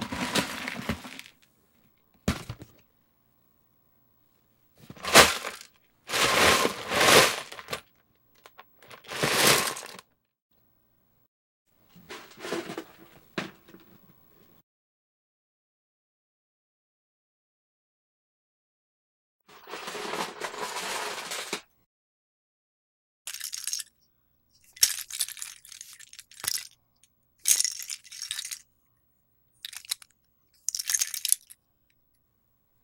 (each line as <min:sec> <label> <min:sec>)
0:00.0 Shaking a Lego Set box 0:01.4
0:00.0 dropping Legos and handling them 0:02.8
0:04.8 dropping Legos and handling them 0:10.1
0:04.8 Shaking a Lego Set box 0:10.0
0:12.0 dropping Legos and handling them 0:14.2
0:19.5 Shaking a Lego Set box 0:21.7
0:19.5 dropping Legos and handling them 0:21.7
0:23.3 Shaking a Lego Set box 0:23.9
0:23.3 dropping Legos and handling them 0:24.0
0:24.6 dropping Legos and handling them 0:26.8
0:24.6 Shaking a Lego Set box 0:26.8
0:27.4 dropping Legos and handling them 0:28.7
0:27.4 Shaking a Lego Set box 0:28.7
0:29.6 dropping Legos and handling them 0:31.6
0:29.6 Shaking a Lego Set box 0:31.6